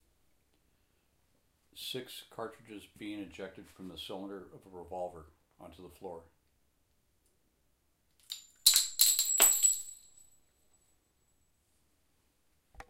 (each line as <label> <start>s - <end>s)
Spent revolver cartridges hit floor 8.2s - 10.4s